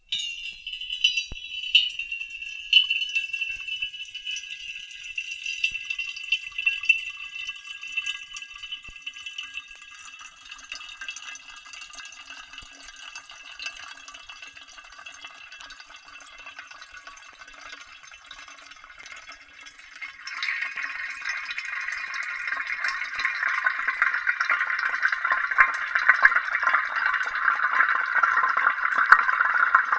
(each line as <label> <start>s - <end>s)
Water slowly filling a giant thermos 0.0s - 29.9s